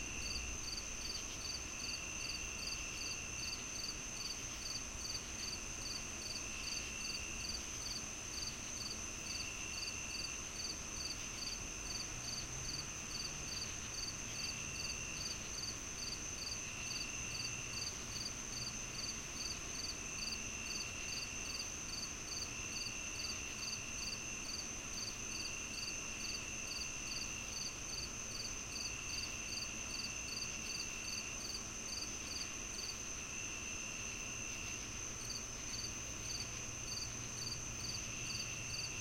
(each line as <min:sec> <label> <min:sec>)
0:00.0 nearby cricket 0:39.0